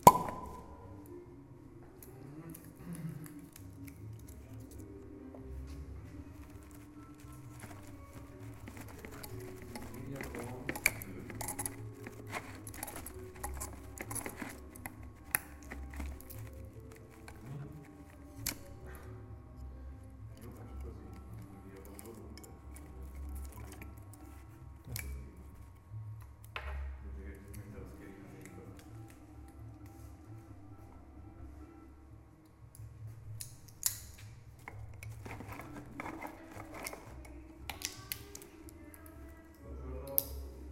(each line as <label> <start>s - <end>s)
opening a wine bottle 0.0s - 0.7s